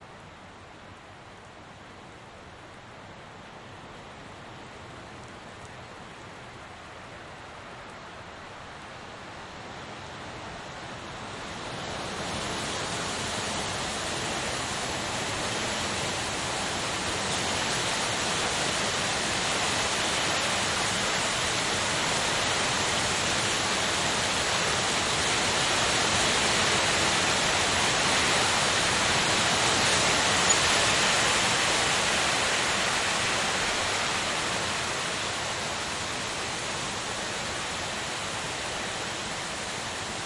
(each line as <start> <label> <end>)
0.0 rain 40.2
0.0 wind 40.2
12.6 hail-showers arriving 40.2